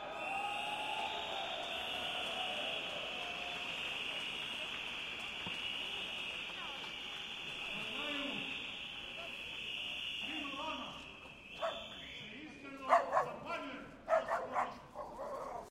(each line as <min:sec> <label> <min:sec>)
0:00.0 whistle 0:12.9